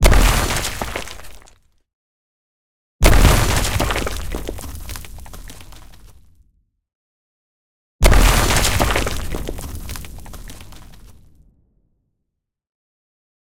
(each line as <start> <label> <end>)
0.0 Debris 1.6
3.0 Debris 6.4
8.0 Debris 11.4